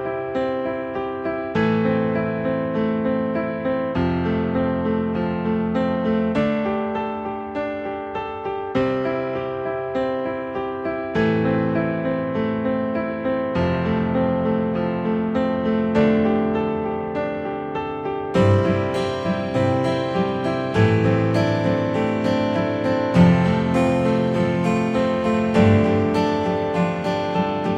0.0s piano 27.7s
18.4s nylon guitar 27.7s

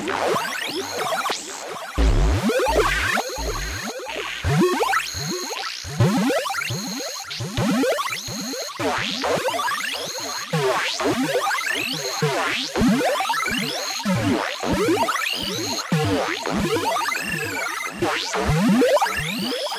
2.0s bleeps 4.0s

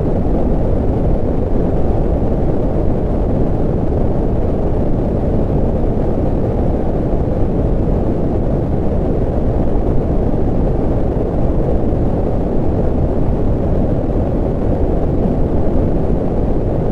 0.0s Computer Generated Wind 16.9s

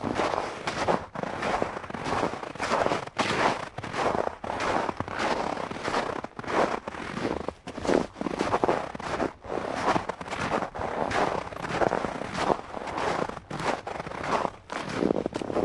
0.0s walking on snow of various depths 15.6s

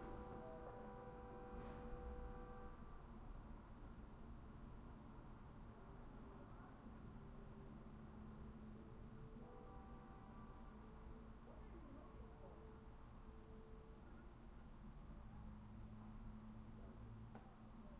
0.0s television in the apartment next door 17.9s

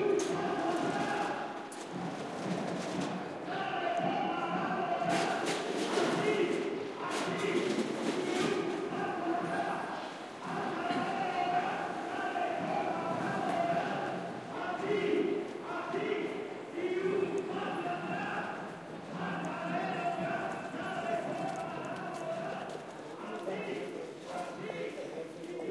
0.0s people shouting slogans against the government 1.7s
3.4s people shouting slogans against the government 22.9s

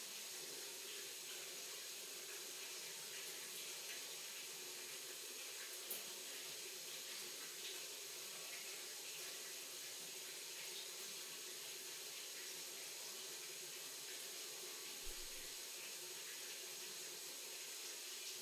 0.0s water-pipe stream 18.4s

